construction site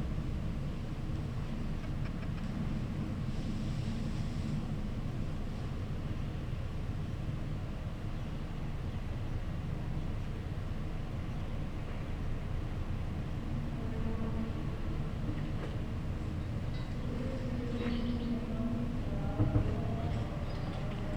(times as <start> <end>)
8.8 21.1